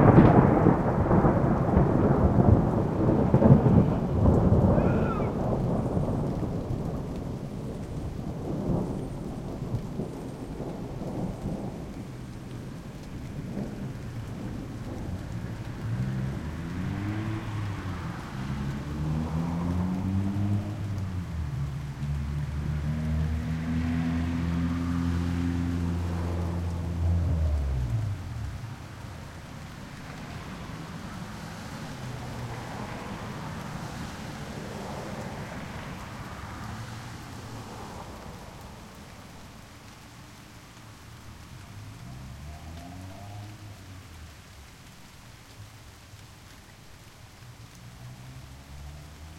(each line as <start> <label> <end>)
0.0 thunder 21.8
0.0 rain 49.3
4.7 guy yells in the distance 5.5